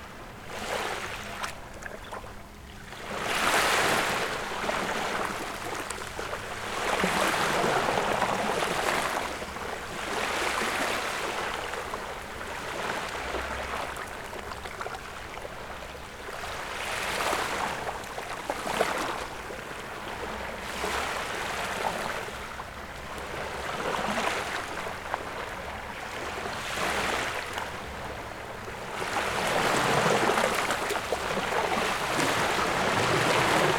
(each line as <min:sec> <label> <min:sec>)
0:24.4 boat passed by 0:33.7